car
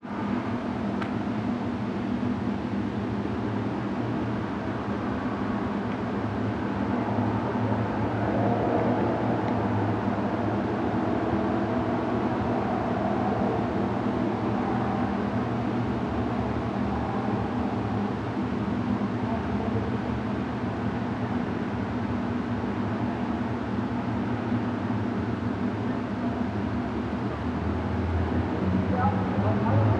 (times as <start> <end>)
26.4 29.9